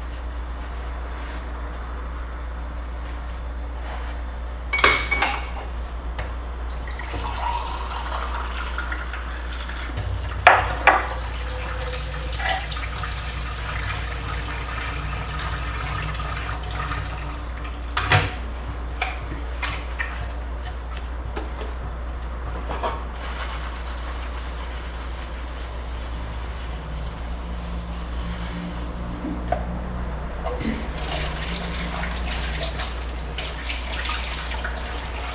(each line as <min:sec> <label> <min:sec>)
0:03.0 Preparing breakfast 0:06.4